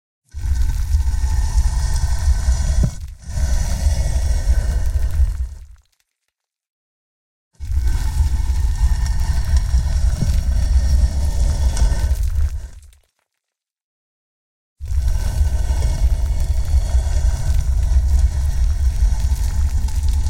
0.3s gravestone slab being dragged 5.8s
0.3s chipped small stones and sand 6.4s
7.6s gravestone slab being dragged 13.0s
7.6s chipped small stones and sand 13.5s
14.8s gravestone slab being dragged 20.2s
14.8s chipped small stones and sand 20.2s

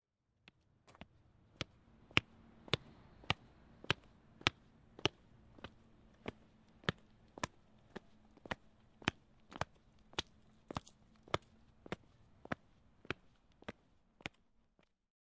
0.5s Man walking on concrete 14.9s

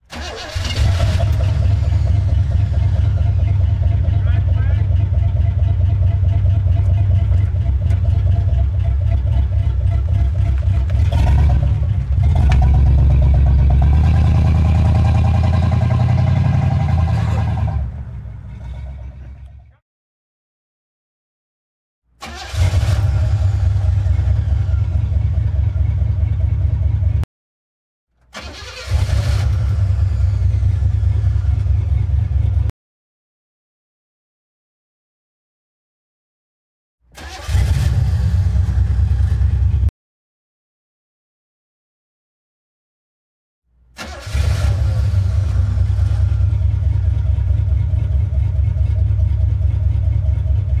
0.0s auto 19.8s
22.2s auto 27.2s
28.2s auto 32.7s
37.2s auto 39.9s
44.0s auto 50.8s

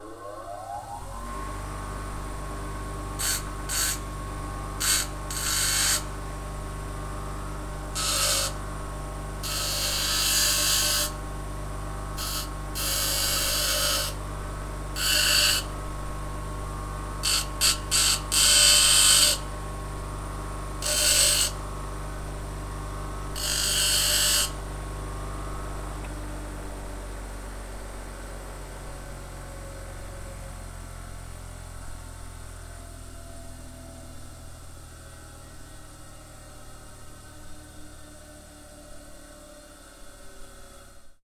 3.2s Bench-grinder 4.2s
4.8s Bench-grinder 6.2s
7.8s Bench-grinder 8.6s
9.4s Bench-grinder 11.2s
12.2s Bench-grinder 14.2s
14.9s Bench-grinder 15.8s
17.2s Bench-grinder 19.5s
20.8s Bench-grinder 21.6s
23.2s Bench-grinder 24.6s

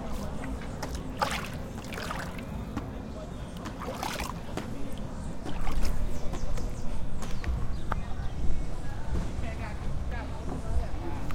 0.0s water 7.1s

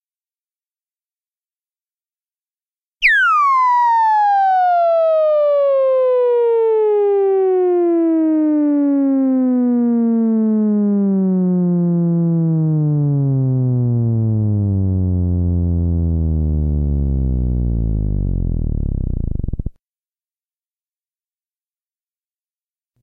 3.0s theremin laser 19.7s

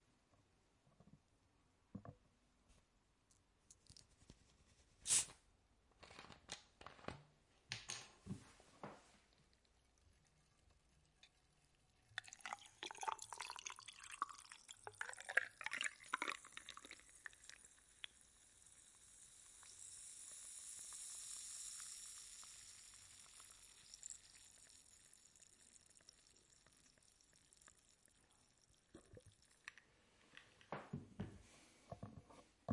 9.6s Fizzy drink pour with ice 29.8s

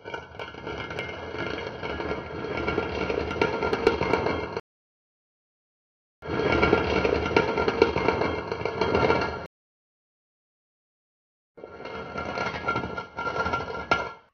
0.2s tin can being scraped over a concrete block 4.4s
6.2s tin can being scraped over a concrete block 9.5s
11.6s tin can being scraped over a concrete block 14.3s

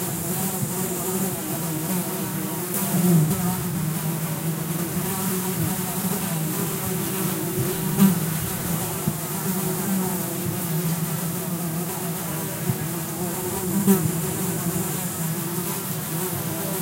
0.0s Flies around cow/horse shit 16.8s
0.0s bees 16.8s

